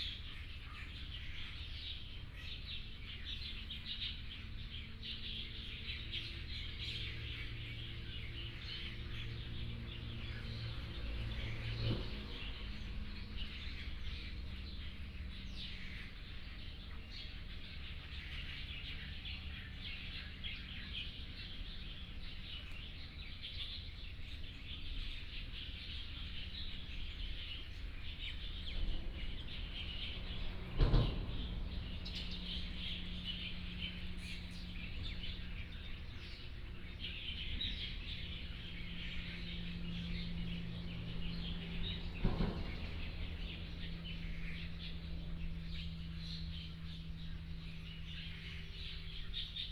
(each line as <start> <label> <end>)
0.0 Birdsong 49.7
6.4 Traffic Sound 23.4
24.9 Traffic Sound 49.7